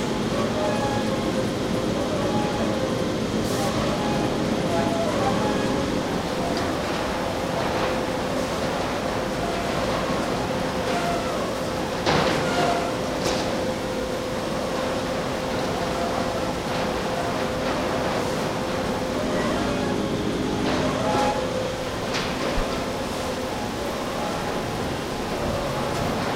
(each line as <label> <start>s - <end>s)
machinery 0.0s - 26.3s